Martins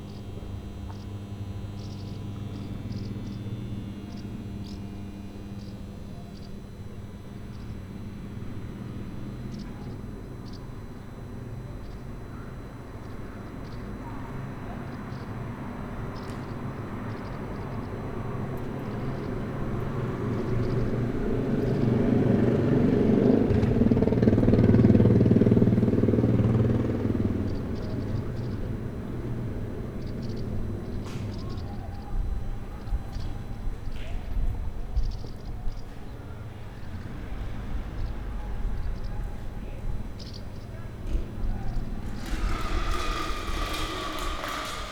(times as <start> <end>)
40.2 44.9